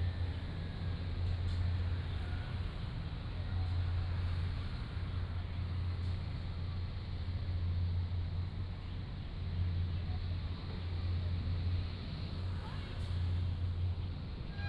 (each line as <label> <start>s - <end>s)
Distant ship's whistle 14.5s - 14.6s